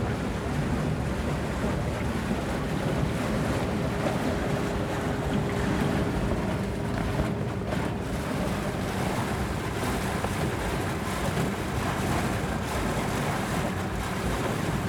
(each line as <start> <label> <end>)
0.0 Crossing the Rhine with the ferry boat 14.8